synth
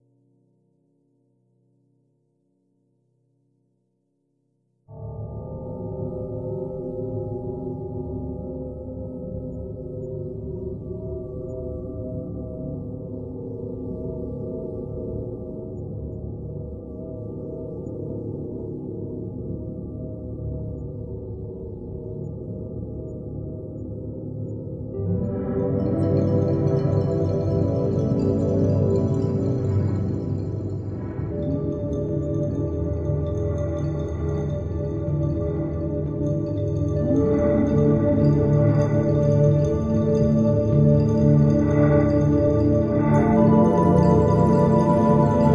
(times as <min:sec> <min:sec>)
0:25.0 0:45.5